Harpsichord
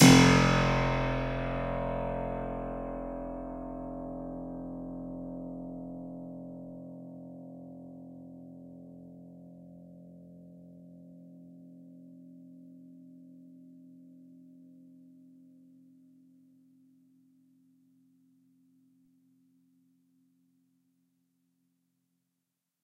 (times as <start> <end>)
0.0 2.8